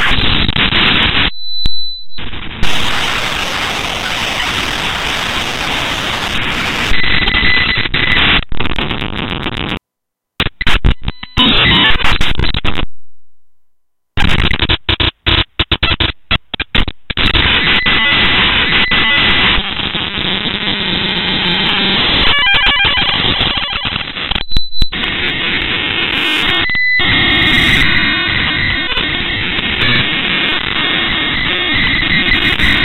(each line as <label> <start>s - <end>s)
Broken Radar 2.2s - 9.8s
Broken Radar 14.2s - 32.8s